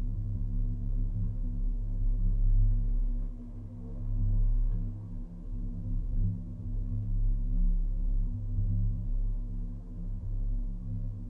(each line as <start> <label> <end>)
0.0 Wind and waves resonating inside the metal jetty support 11.2